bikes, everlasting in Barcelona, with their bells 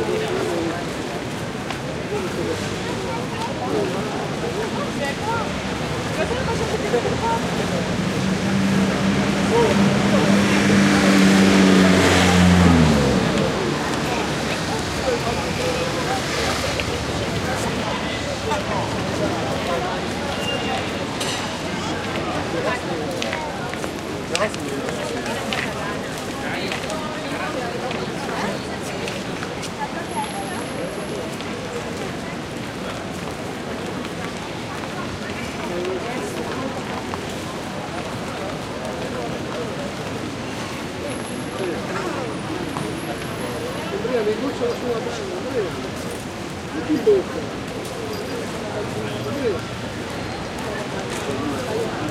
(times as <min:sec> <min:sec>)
0:13.2 0:52.1